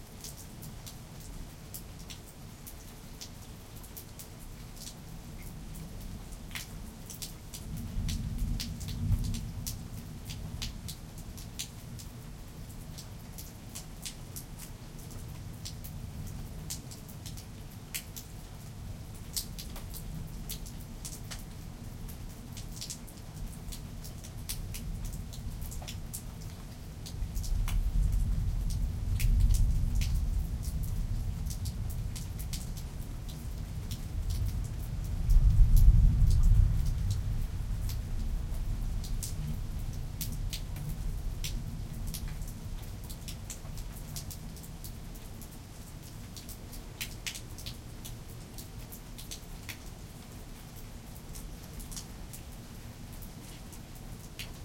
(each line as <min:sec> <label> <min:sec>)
0:00.0 steady rain 0:54.6
0:33.8 Rolling thunder 0:39.0